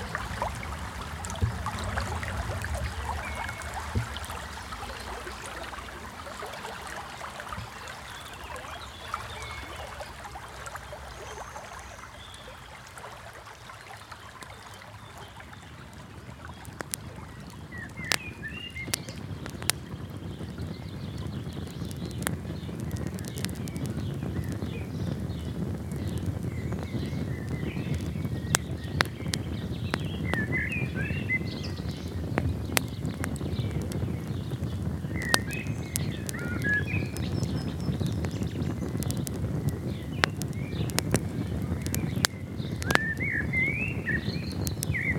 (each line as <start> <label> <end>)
0.0 nature noises 45.1